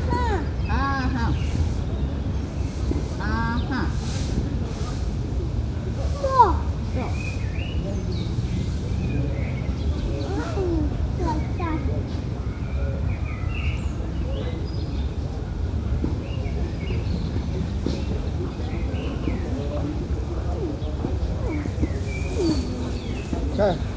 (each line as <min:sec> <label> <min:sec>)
0:00.0 small child converses with his parents 0:01.8
0:02.4 old men with rakes prepare the gravel surface 0:05.3
0:05.9 small child converses with his parents 0:07.7
0:10.0 small child converses with his parents 0:12.4